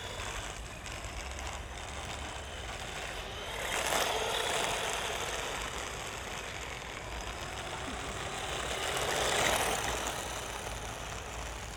remote controlled model car 0.0 - 11.7

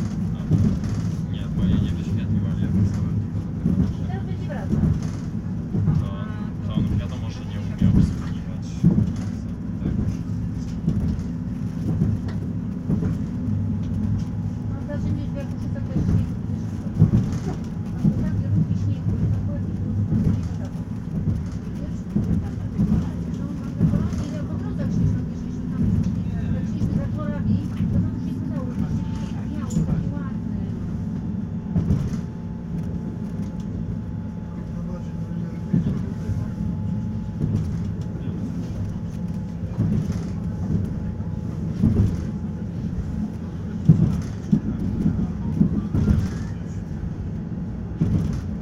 train ride 0.0 - 48.6

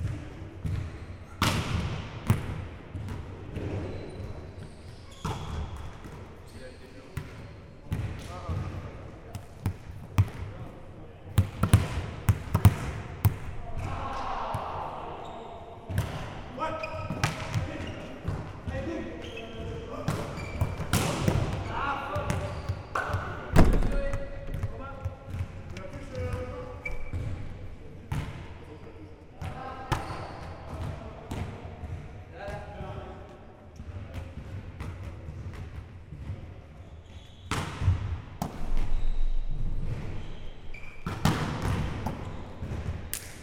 people are playing volley-ball 0.0 - 43.4

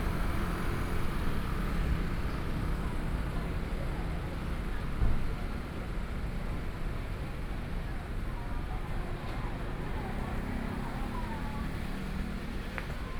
walking on the Road 8.6 - 13.1
Traffic Sound 9.4 - 13.1

